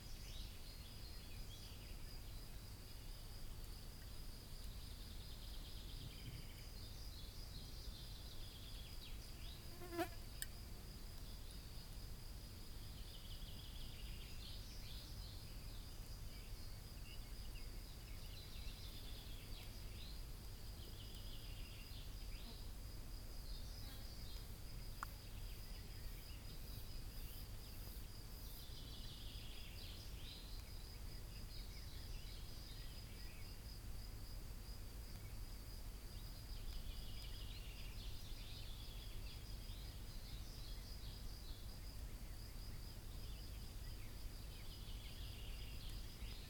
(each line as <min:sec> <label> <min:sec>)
0:00.0 Birds 0:11.8
0:00.0 Crickets 0:46.4
0:07.6 Bees 0:10.5
0:12.8 Birds 0:22.7
0:14.9 Bees 0:30.0
0:23.3 Birds 0:33.8
0:35.1 Birds 0:46.4